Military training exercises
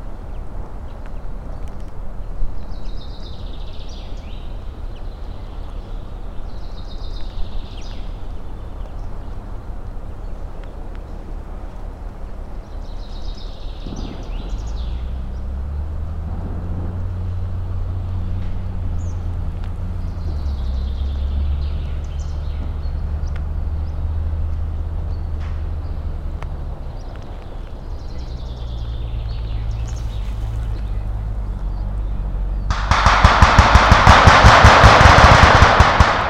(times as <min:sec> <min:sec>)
0:32.7 0:36.2